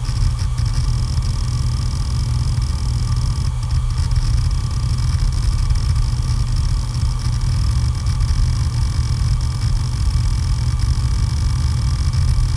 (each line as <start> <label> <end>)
0.0 heads rumbling when data is read and written 12.5